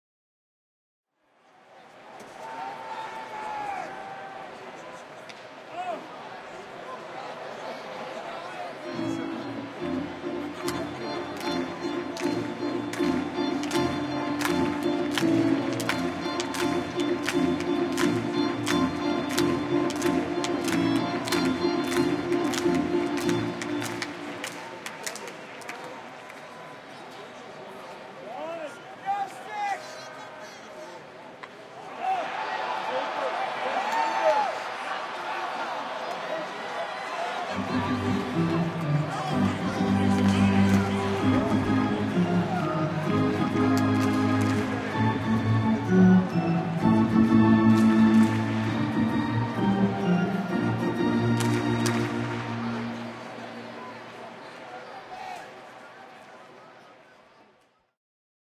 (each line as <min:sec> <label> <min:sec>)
0:08.4 organ music playing at the stadium 0:25.9
0:37.5 organ music playing at the stadium 0:54.7